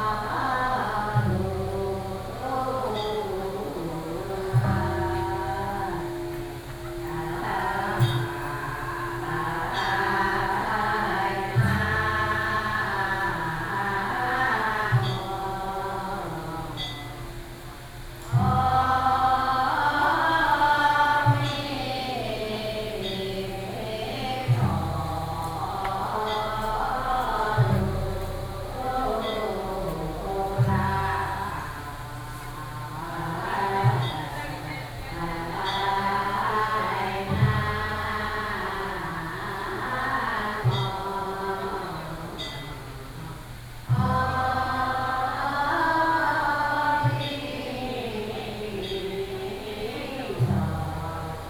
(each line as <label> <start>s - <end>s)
old woman are sitting in the temple chanting together 0.0s - 51.4s